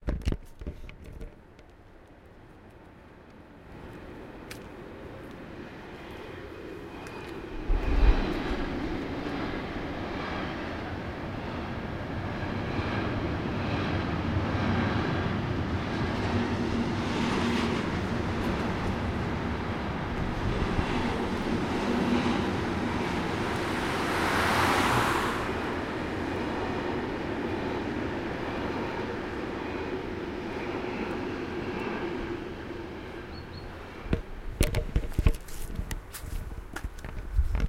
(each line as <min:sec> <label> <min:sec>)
0:00.2 passenger train 0:37.6